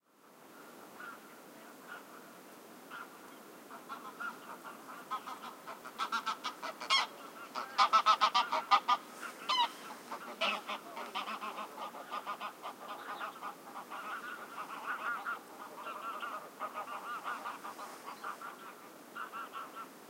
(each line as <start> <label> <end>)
0.6 Geese fly over my head 20.0
12.8 birdsong 19.9